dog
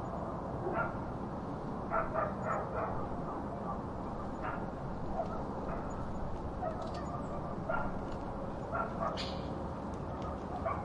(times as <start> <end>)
1.9 3.4, 4.4 8.1, 8.7 9.3, 10.1 10.8